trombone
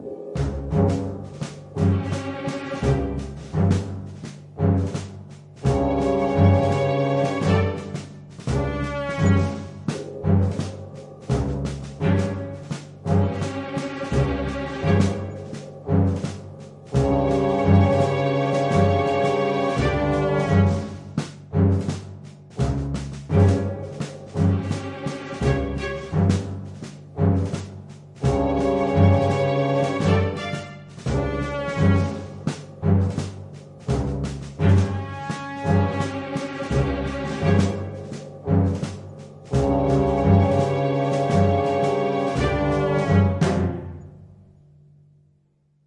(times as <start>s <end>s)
5.7s 10.0s, 16.9s 22.0s, 28.2s 33.2s, 33.9s 38.9s, 39.5s 44.0s